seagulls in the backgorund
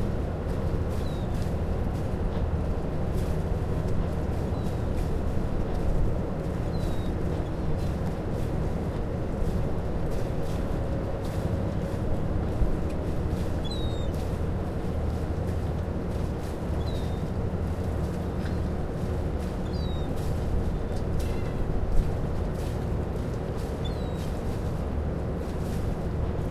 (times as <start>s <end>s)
0.9s 1.4s, 6.5s 7.8s, 13.4s 15.5s, 16.6s 21.7s, 23.6s 24.5s